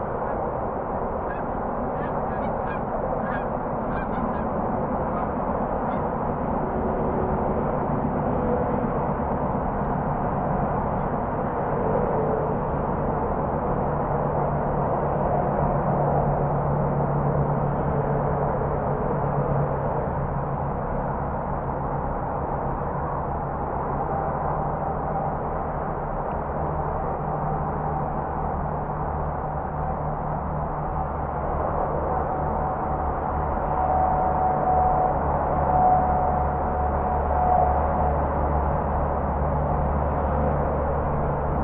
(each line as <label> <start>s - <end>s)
highway traffic distant 0.0s - 8.3s
airplane pass overhead 0.0s - 41.6s
GEESE 0.1s - 0.4s
GEESE 1.3s - 6.2s
highway traffic distant 24.2s - 41.6s